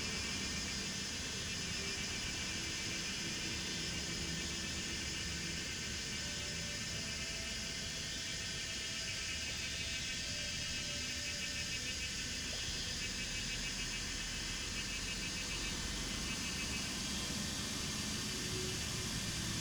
Cicadas cry 0.0 - 19.6
Frogs chirping 0.0 - 19.6

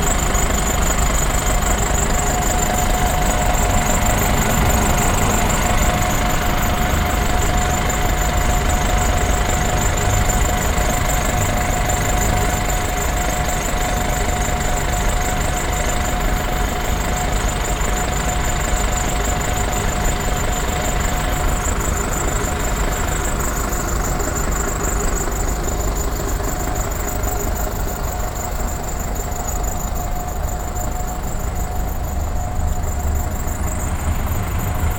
bus driving in and standing with running engine 0.0 - 34.9

